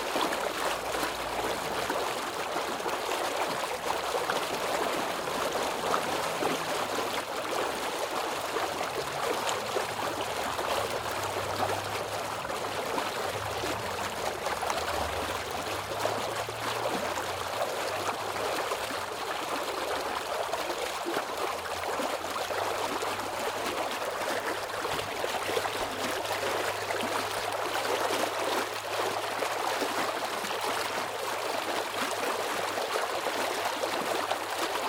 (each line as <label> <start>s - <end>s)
Water leak 0.0s - 19.1s